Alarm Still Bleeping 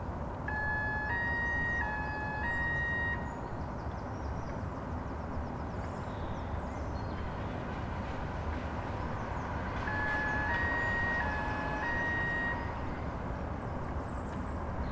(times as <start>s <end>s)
0.5s 3.4s, 9.8s 13.0s